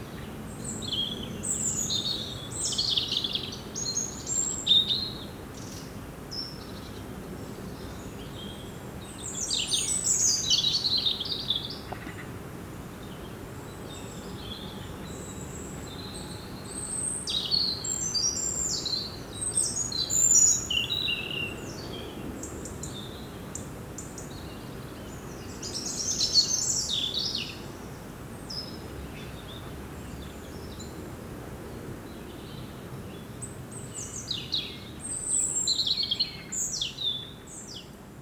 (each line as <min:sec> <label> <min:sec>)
0:00.1 blackbird is singing 0:07.1
0:07.7 blackbird is singing 0:12.3
0:13.0 blackbird is singing 0:31.0
0:32.1 blackbird is singing 0:37.9